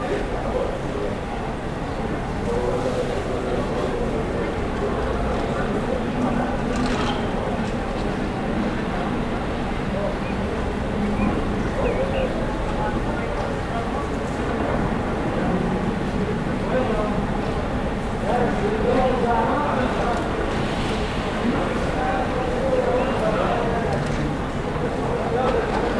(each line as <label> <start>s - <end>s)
people talking 0.0s - 25.9s
traffic 0.1s - 25.9s
birds 9.6s - 14.0s